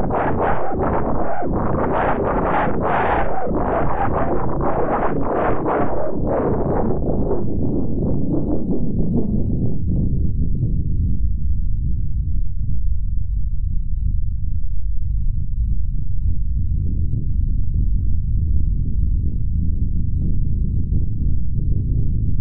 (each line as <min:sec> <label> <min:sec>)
0:00.0 noise produced by cross-modulating two sine wave oscillators 0:22.4